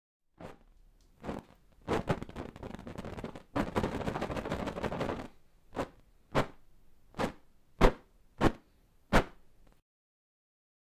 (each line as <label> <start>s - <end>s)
Fire stick shake 1.2s - 6.6s